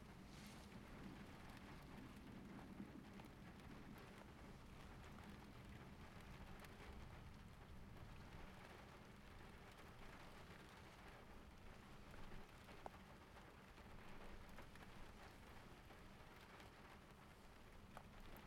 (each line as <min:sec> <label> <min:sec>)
0:00.0 rain on the roof 0:18.4